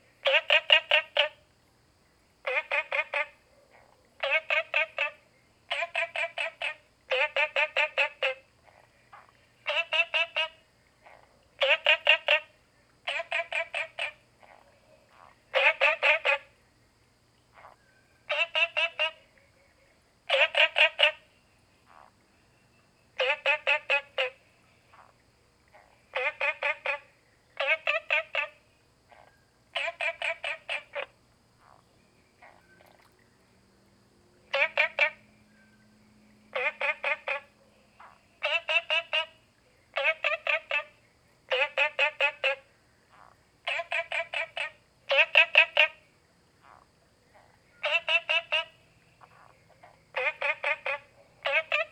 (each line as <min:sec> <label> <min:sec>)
0:00.0 Frogs chirping 0:51.9